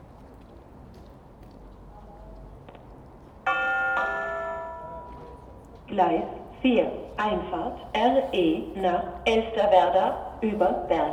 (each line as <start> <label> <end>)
3.5 bells 5.6
3.5 station announcements 11.1